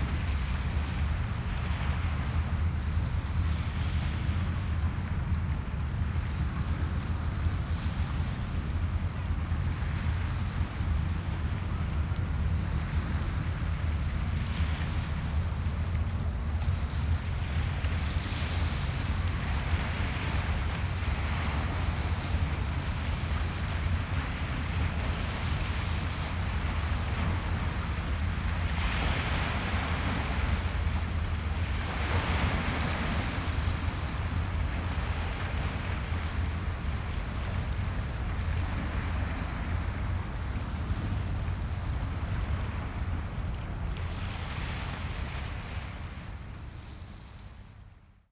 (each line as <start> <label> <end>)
0.0 passing pilot boat 48.1